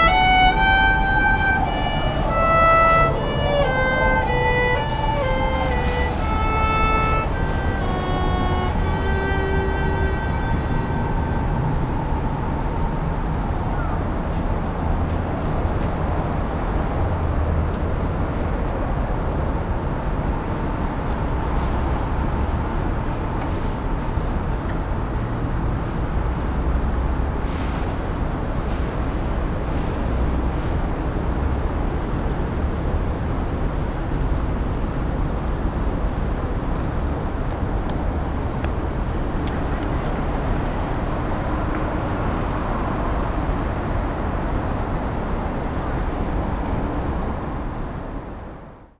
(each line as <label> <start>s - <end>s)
lady practicing violin 0.0s - 11.6s